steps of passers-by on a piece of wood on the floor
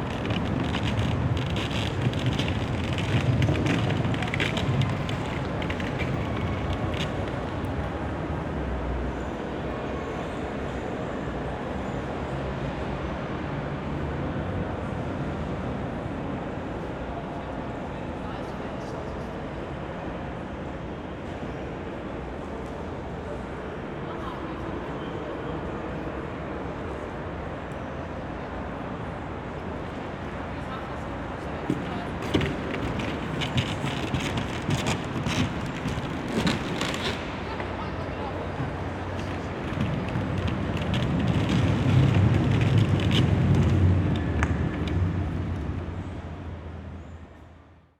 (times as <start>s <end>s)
0.0s 8.5s, 29.9s 46.2s